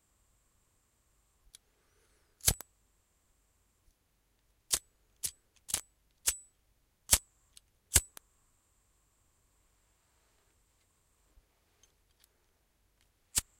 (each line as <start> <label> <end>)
2.4 cigarette lighter 2.6
2.4 ignition of a sparkler 2.6
13.3 cigarette lighter 13.5
13.3 ignition of a sparkler 13.5